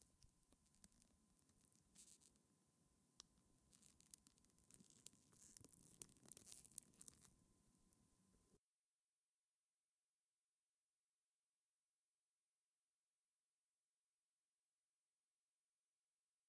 Plastic burn 0:03.7 - 0:07.3

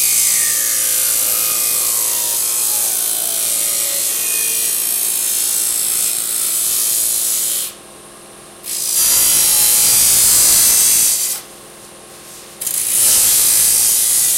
Disk Saw Cuts Alluminium 0:00.0 - 0:07.5

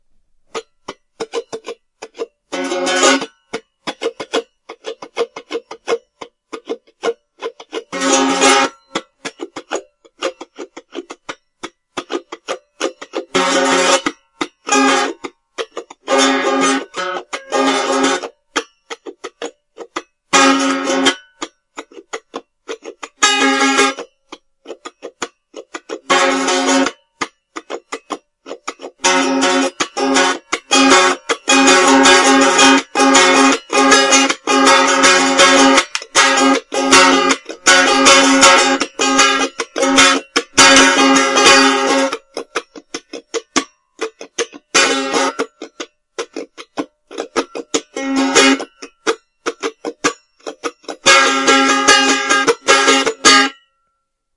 out of tune mandolin being strummed 0:00.0 - 0:54.3

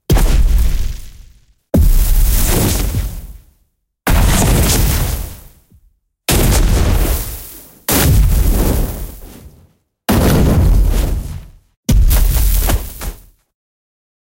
Fire Magic Impact 0:00.1 - 0:03.4
Fire Magic Impact 0:06.3 - 0:09.4

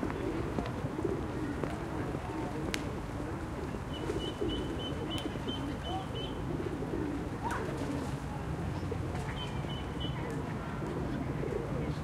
People are walking 0:00.0 - 0:12.0
pigeons 0:00.0 - 0:12.0
traffic 0:00.0 - 0:12.0

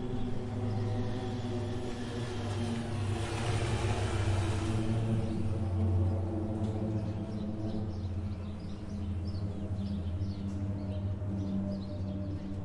Birds 0:00.0 - 0:12.6
Military Aircrafts 0:00.0 - 0:12.6

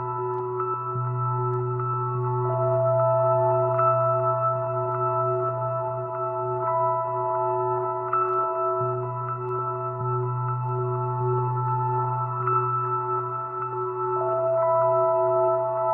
piano 0:00.0 - 0:15.9
rhodes 0:00.0 - 0:15.9

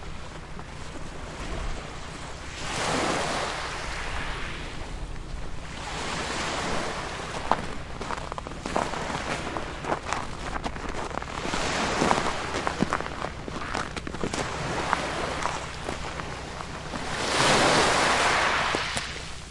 oil tanker docked at the harbour, engines running 0:00.0 - 0:03.8
gentle waves washing on the shore 0:00.0 - 0:19.5
oil tanker docked at the harbour, engines running 0:04.7 - 0:19.5
crunch 0:07.3 - 0:17.2

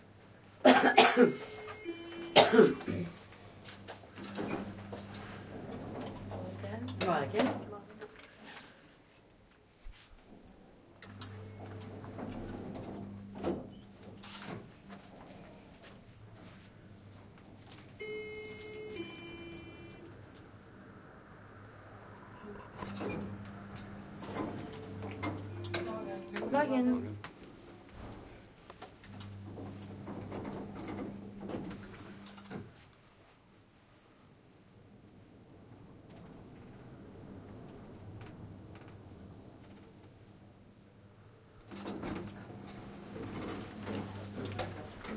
people coughing 0:00.6 - 0:01.6
elevator 0:01.3 - 0:07.7
people coughing 0:02.3 - 0:03.2
elevator 0:11.0 - 0:20.7
elevator 0:22.0 - 0:28.3
elevator 0:29.0 - 0:32.7
elevator 0:41.6 - 0:45.1

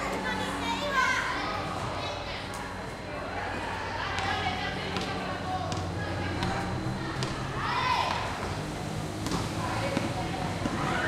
Walla 0:03.1 - 0:11.0
Basketball 0:04.0 - 0:11.0

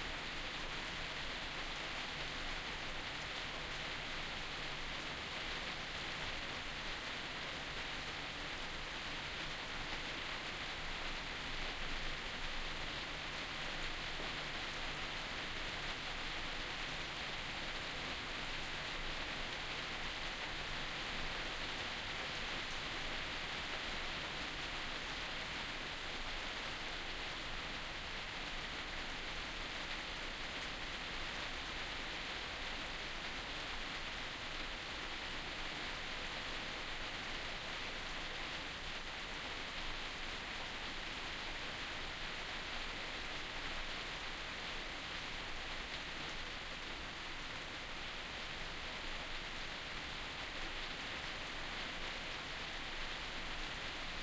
rain was falling on a roof 0:00.0 - 0:54.2

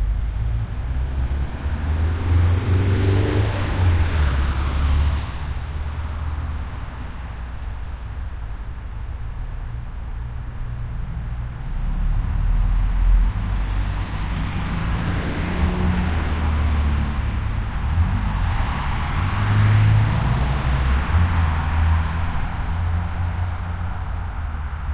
car traffic 0:00.0 - 0:24.9

